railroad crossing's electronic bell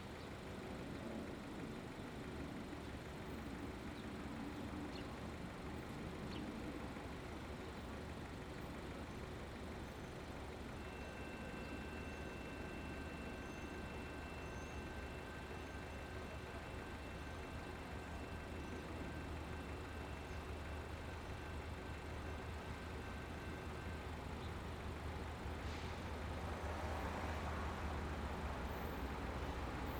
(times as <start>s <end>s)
6.9s 29.9s